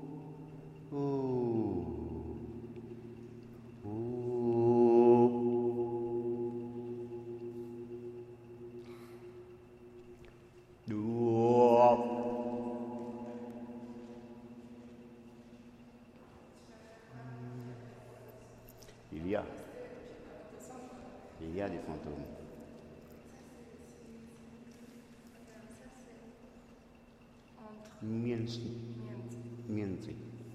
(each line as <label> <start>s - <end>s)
floating echoe 0.0s - 19.0s
floating echoe 28.0s - 30.5s